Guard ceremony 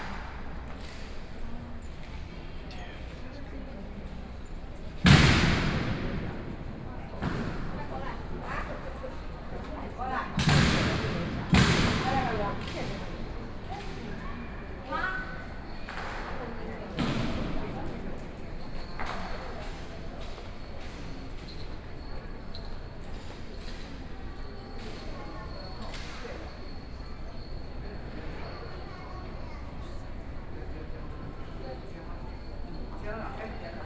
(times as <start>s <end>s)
5.0s 15.0s